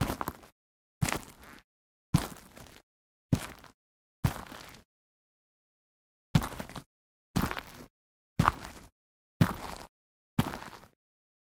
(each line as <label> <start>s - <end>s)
Footsteps (boots) on gritty ground (Gravel) 0.0s - 1.6s
Footsteps (boots) on gritty ground (Gravel) 2.2s - 2.8s
Footsteps (boots) on gritty ground (Gravel) 3.4s - 4.8s
Footsteps (boots) on gritty ground (Gravel) 6.4s - 11.0s